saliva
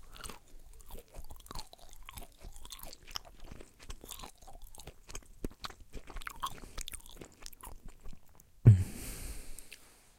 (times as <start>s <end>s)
5.5s 9.9s